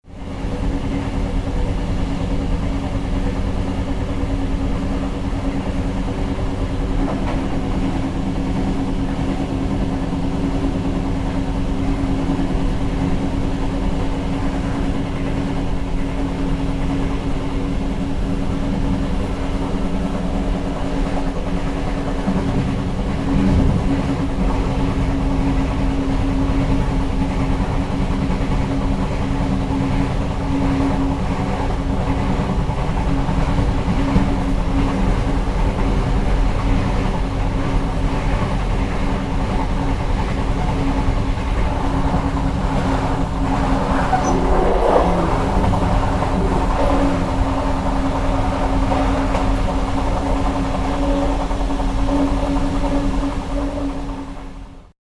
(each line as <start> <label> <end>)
0.0 train 55.0